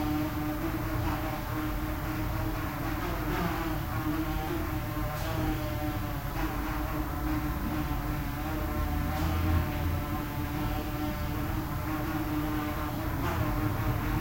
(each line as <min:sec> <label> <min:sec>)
0:00.0 Air conditing hums 0:14.2
0:00.0 Fly flying in an echoing room 0:14.2